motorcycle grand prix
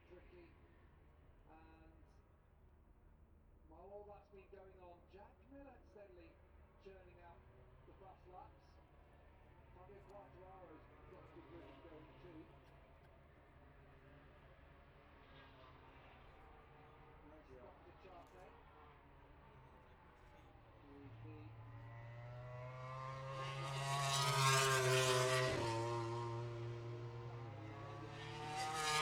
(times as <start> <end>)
7.4 29.0